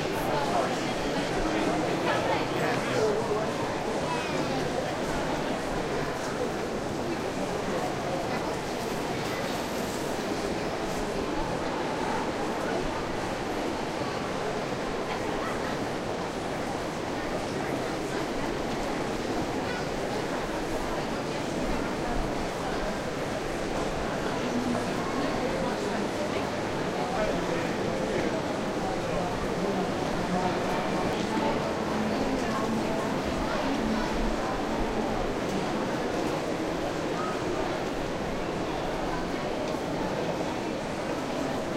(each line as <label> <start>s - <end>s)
people walk close to the recorder 0.0s - 41.7s